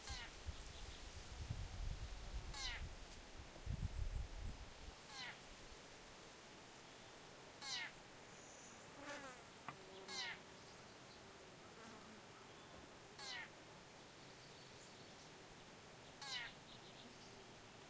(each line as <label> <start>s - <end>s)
rush of wind 0.0s - 5.0s
birds 6.9s - 11.3s
birds 12.4s - 17.8s